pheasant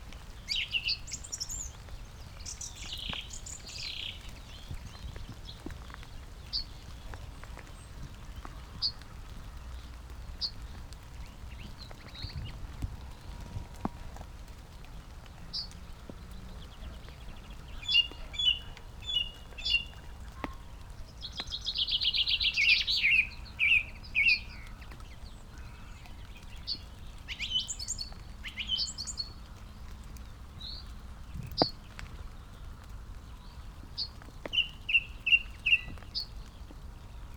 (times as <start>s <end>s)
15.2s 32.1s, 32.7s 37.3s